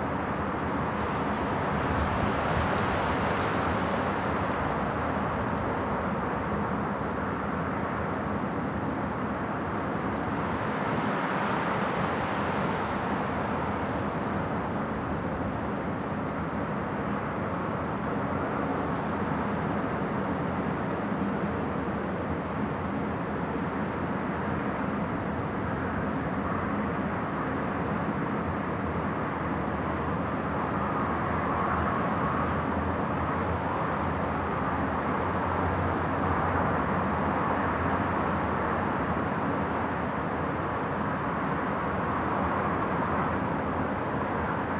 0.0s Traffic 44.7s
0.0s Wind 44.7s

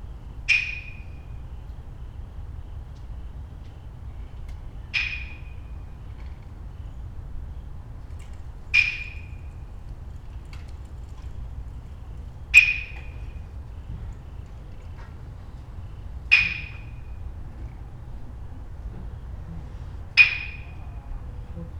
4.9s percussionist sounding the streets around 6.2s
8.7s percussionist sounding the streets around 10.4s
11.5s percussionist sounding the streets around 21.7s

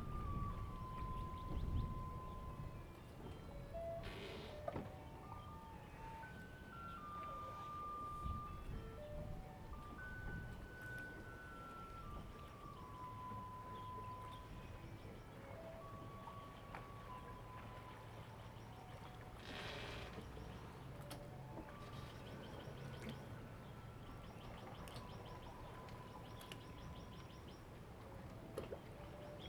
0.0s Tide 29.4s
0.2s Garbage truck music sound 18.4s
5.2s Birds sound 8.5s
9.8s Birds sound 19.2s
21.7s Birds sound 27.8s

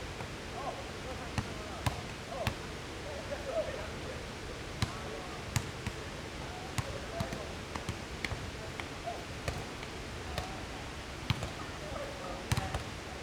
0.0s stream 13.2s

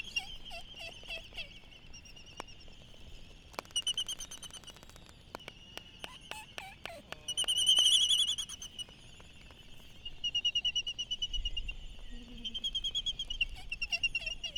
0.0s red-tailed tropic birds 14.5s
6.0s voices 7.8s
12.0s voices 12.8s

